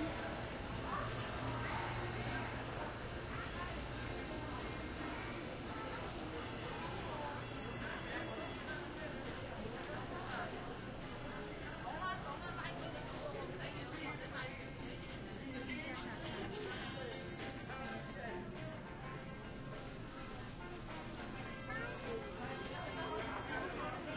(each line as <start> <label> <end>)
0.0 crowd 24.1